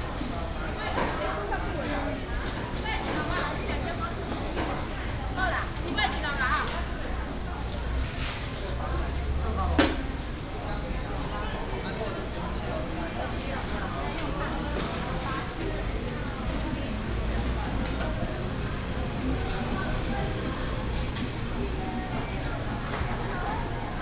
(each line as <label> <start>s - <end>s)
traffic sound 14.3s - 24.0s